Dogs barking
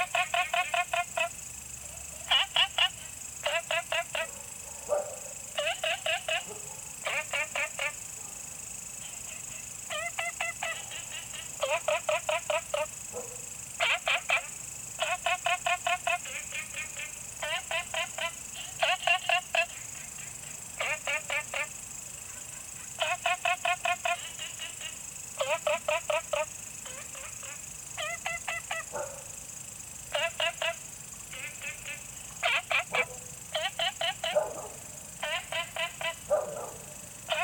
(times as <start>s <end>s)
4.1s 5.4s, 6.4s 6.9s, 13.1s 13.5s, 28.9s 29.4s, 34.2s 34.8s, 36.2s 37.4s